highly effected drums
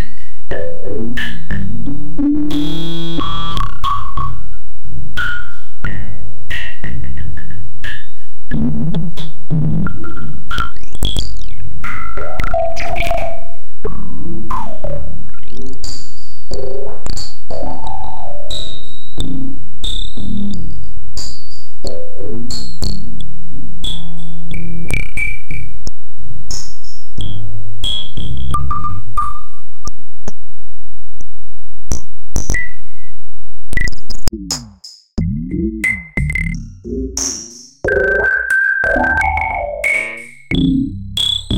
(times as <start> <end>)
34.3 41.5